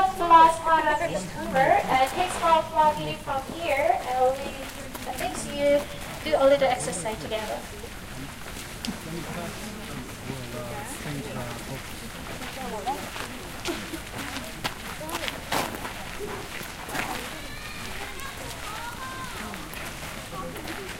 Tourist guide in English 0:00.0 - 0:15.4
footsteps 0:00.0 - 0:20.9

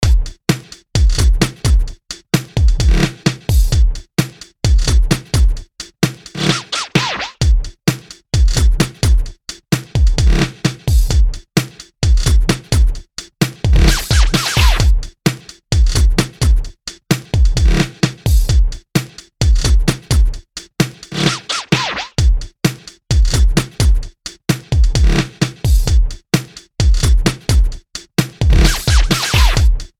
Bass 0:00.0 - 0:00.4
Kick Drum 0:00.0 - 0:06.4
Clap 0:06.4 - 0:07.4
Snare 0:06.4 - 0:07.4
Kick Drum 0:07.4 - 0:21.0
Bass 0:13.8 - 0:15.0
Snare 0:13.8 - 0:14.9
Snare 0:21.1 - 0:22.2
Clap 0:21.2 - 0:22.2
Kick Drum 0:22.2 - 0:29.9
Bass 0:28.5 - 0:29.9
Snare 0:28.6 - 0:29.6
Clap 0:28.6 - 0:29.6

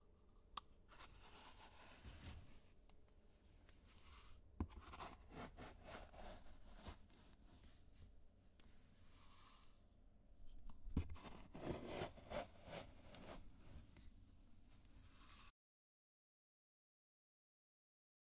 Scooping Powder 0:09.1 - 0:09.8
Scooping Powder 0:15.1 - 0:15.5

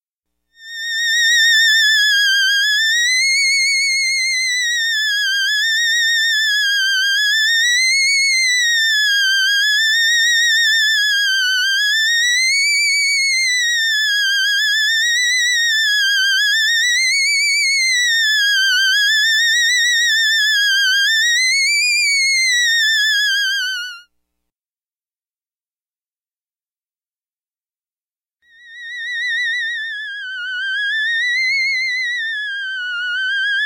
theremin sounds 0:28.5 - 0:33.6

